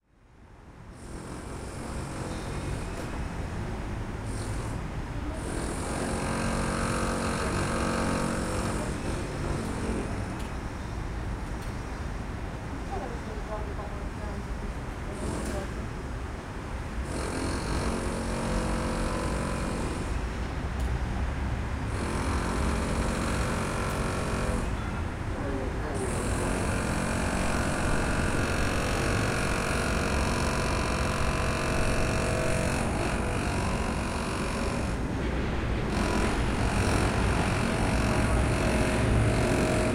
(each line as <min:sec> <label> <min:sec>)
0:00.8 noise made by workers renovating the castle 0:12.2
0:12.7 voices 0:15.8
0:15.0 noise made by workers renovating the castle 0:21.0
0:17.3 passing by trams 0:39.9
0:21.8 noise made by workers renovating the castle 0:39.9